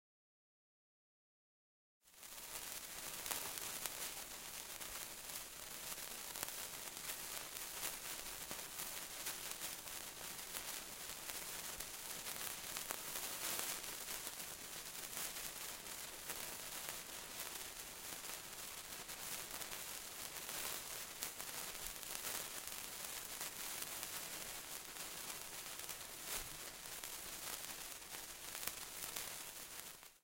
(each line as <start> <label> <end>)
2.0 lighted christmas sparkler 30.2